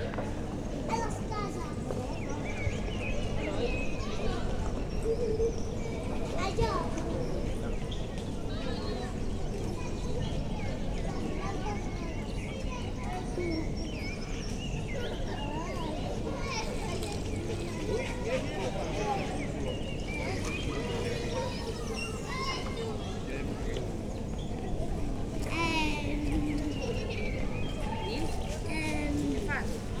many birds 0:00.9 - 0:30.0
Kids playing 0:18.7 - 0:23.2
Kids playing 0:24.8 - 0:30.0

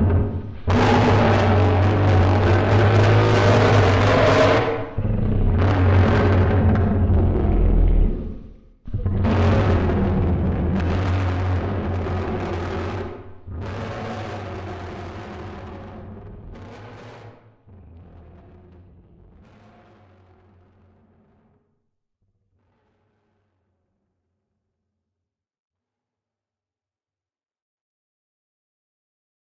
Daeodon Noises 0:00.0 - 0:19.6

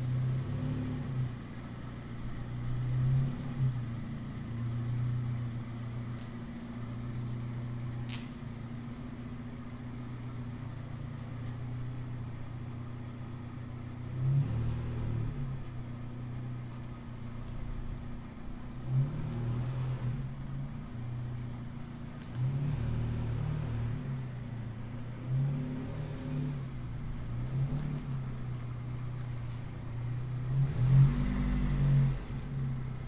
backing car 0:00.0 - 0:33.0

